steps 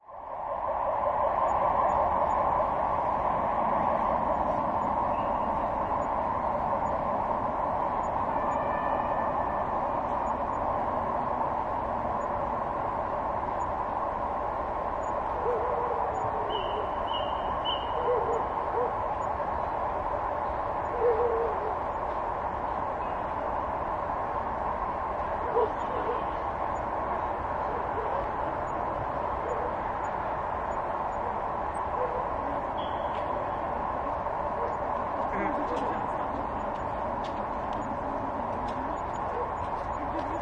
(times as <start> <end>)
35.1 40.4